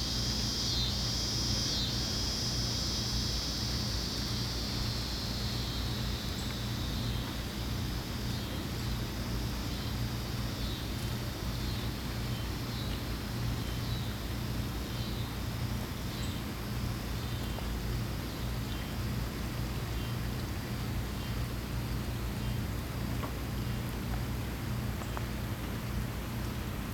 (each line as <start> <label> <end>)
0.0 Cicadas 26.6